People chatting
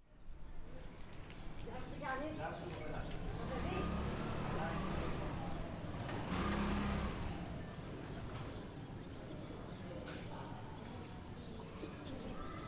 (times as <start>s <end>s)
1.6s 5.8s, 7.0s 12.6s